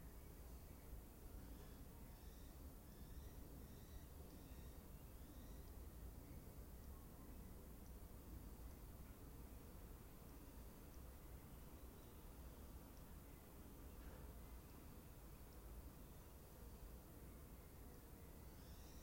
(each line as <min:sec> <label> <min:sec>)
0:00.0 wind 0:19.0